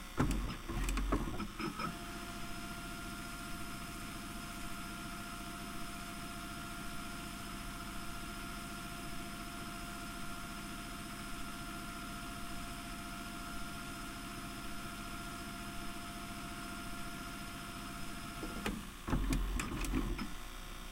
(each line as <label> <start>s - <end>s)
motor 0.0s - 5.2s
tape is playing in the VCR 0.1s - 2.0s
motor 14.5s - 20.9s
tape is playing in the VCR 18.0s - 20.4s
whir 18.4s - 20.4s
pushing the rewind button 18.4s - 20.3s